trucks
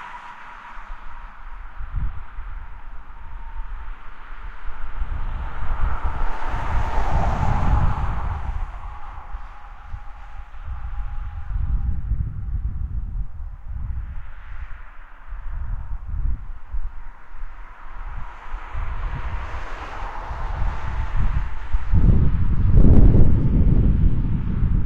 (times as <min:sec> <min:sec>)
0:00.0 0:12.0, 0:17.0 0:24.3